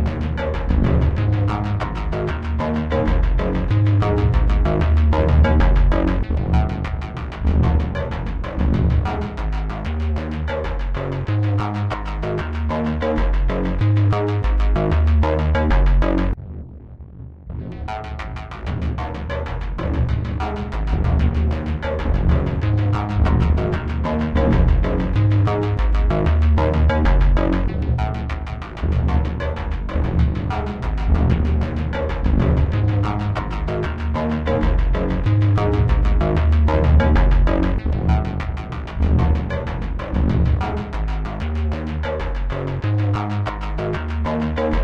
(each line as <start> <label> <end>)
0.0 beat 16.6
17.5 beat 44.8